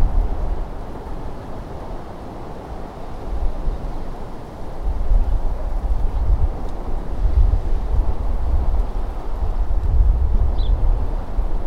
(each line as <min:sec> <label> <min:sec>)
0:00.0 Windy afternoon by the sea 0:11.6